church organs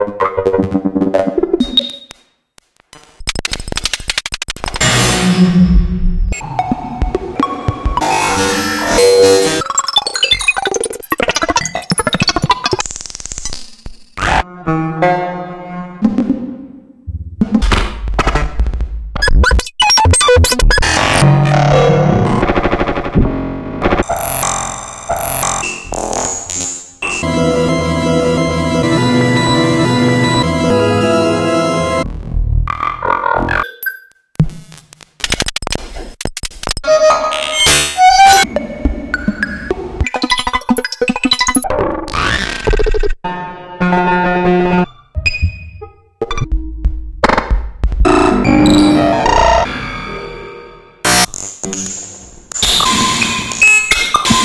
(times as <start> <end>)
27.1 32.0